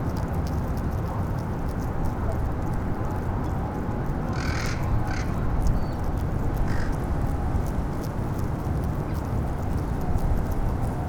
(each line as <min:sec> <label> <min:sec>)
0:00.1 Geese eating grass 0:11.0
0:04.3 crows 0:05.5
0:06.6 crows 0:07.0